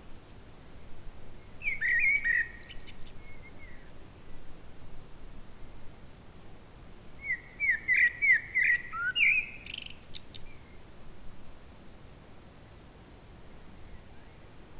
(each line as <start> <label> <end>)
1.6 singing birds announcing sunset 3.9
7.2 singing birds announcing sunset 10.8